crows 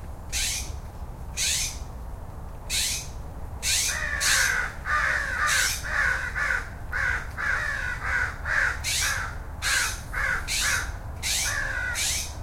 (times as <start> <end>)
3.7 12.3